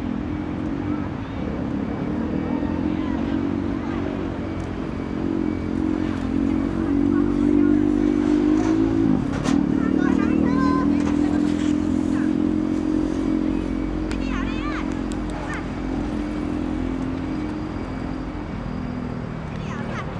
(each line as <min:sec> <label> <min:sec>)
0:00.0 Traffic Sound 0:20.1
0:00.0 Children are learning to roller blading 0:20.1
0:09.8 Child and mother 0:12.4